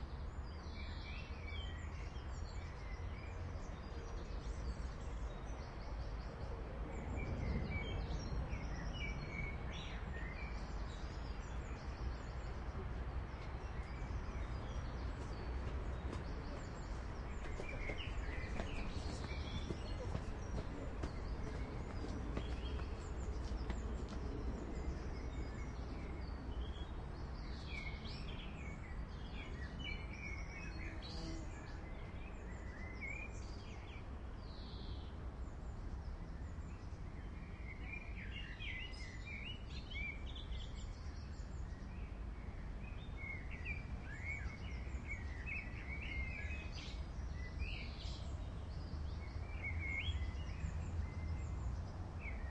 birds 0:00.0 - 0:52.5

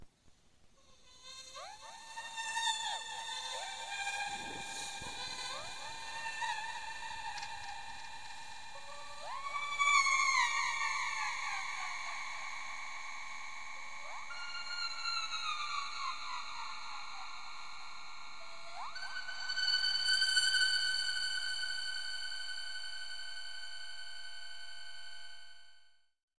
singing 0:00.8 - 0:23.6

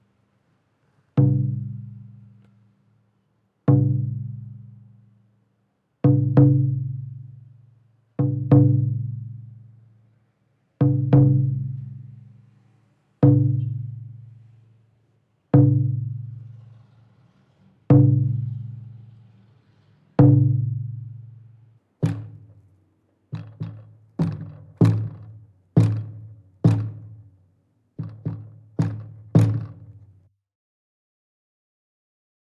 Playing several drums 0:10.8 - 0:11.7
Playing several drums 0:17.9 - 0:18.8
Playing several drums 0:22.0 - 0:22.5
Playing several drums 0:23.3 - 0:27.3
Playing several drums 0:28.0 - 0:30.0

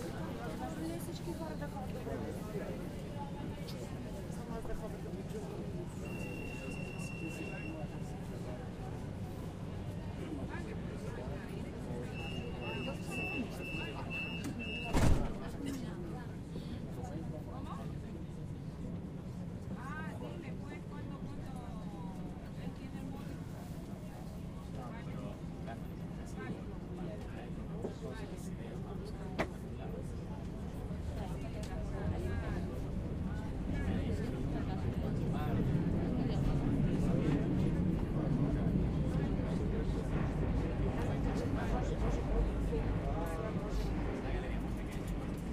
train arriving 0:00.0 - 0:15.4
people entering the train 0:00.0 - 0:45.5
voices of speakers 0:00.0 - 0:45.5

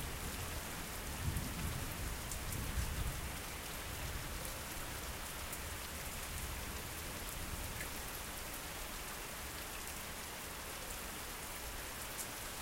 Rain falling on streets 0:00.0 - 0:12.6

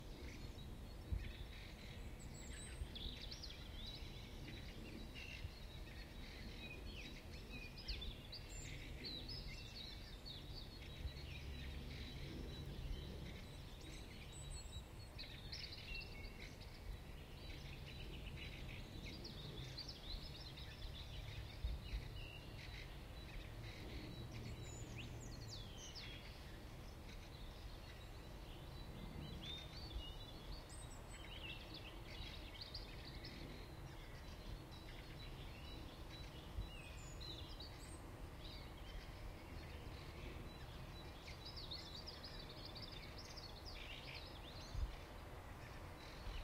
Subdued birds 0:00.0 - 0:46.4

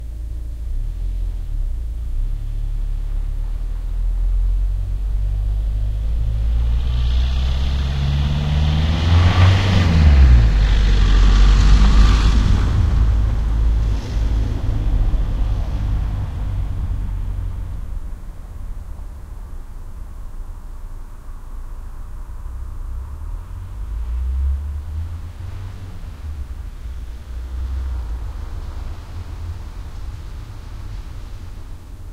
car 0:00.0 - 0:32.1

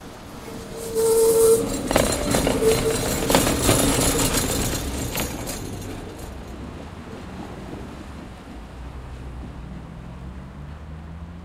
Streetcar at veering with loud characteristic creak 0:00.0 - 0:11.4

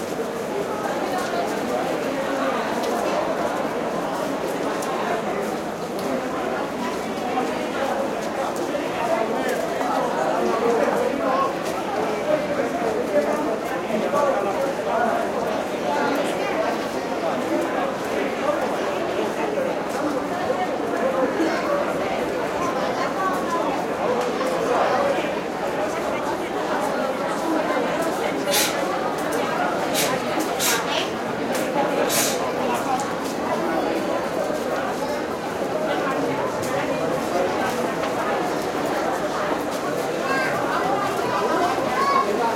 crowds 0:00.0 - 0:42.5

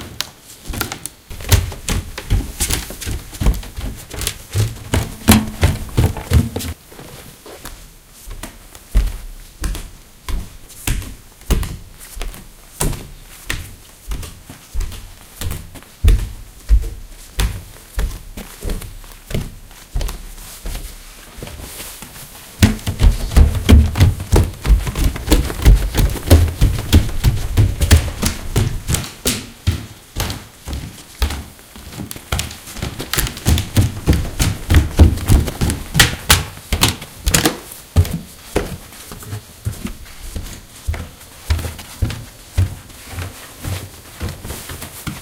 handling noises 0:00.0 - 0:07.6
background noise 0:00.0 - 0:45.2
clothes 0:00.0 - 0:45.2
walking around on tatami and wooden floors 0:00.0 - 0:45.2
handling noises 0:21.1 - 0:40.5

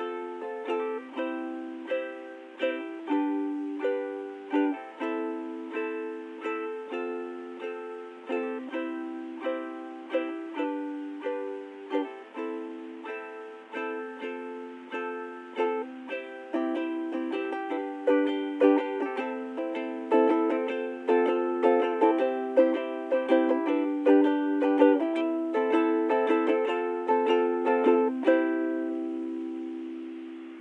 strumming on a ukulele 0:00.0 - 0:30.6

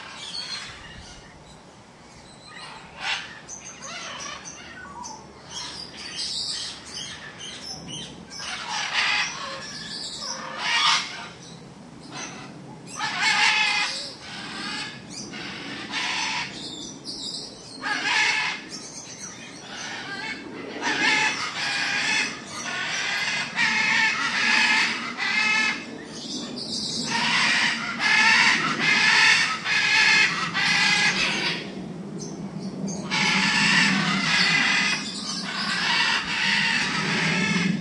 macaws 0:00.0 - 0:01.4
macaws 0:02.4 - 0:11.5
macaws 0:12.1 - 0:17.0
ring-necked parakeet 0:17.8 - 0:31.6
macaws 0:17.8 - 0:31.8
macaws 0:33.0 - 0:37.8

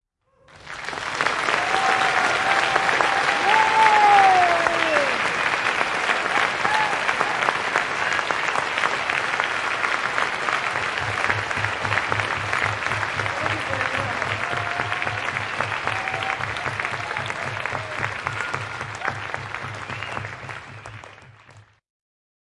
enthusiastic audience clapping 0:00.4 - 0:21.8
shouting 0:01.5 - 0:05.3
shouting 0:13.4 - 0:19.2

